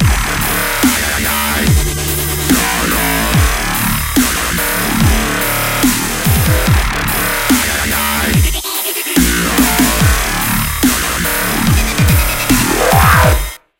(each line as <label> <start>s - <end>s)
Drums 0.0s - 13.7s
Wobble 12.0s - 13.6s